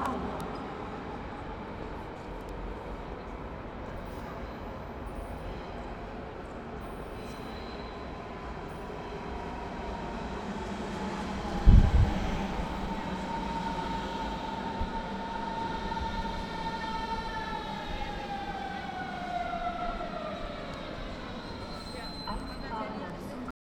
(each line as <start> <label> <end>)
9.0 metro incomming sound 23.4